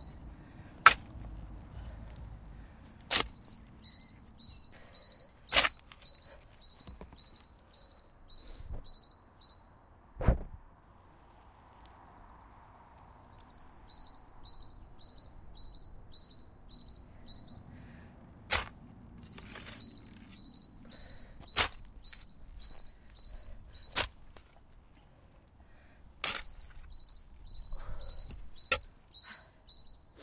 Digging a grave 0.0 - 7.7
Digging a grave 18.4 - 30.2

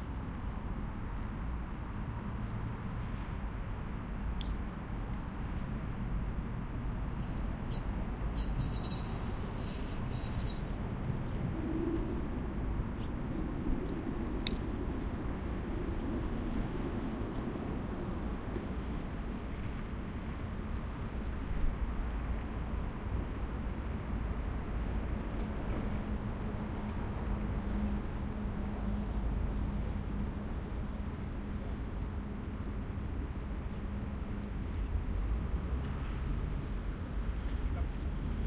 tram 7.1 - 20.4

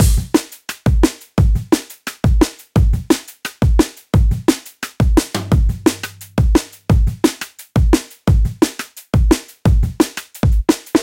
bass 5.3 - 7.3
Acoustic break 5.4 - 6.8

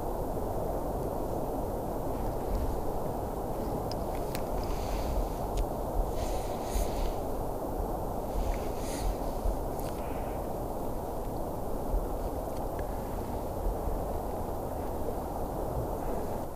Distant iceberg calves 0.0 - 16.5

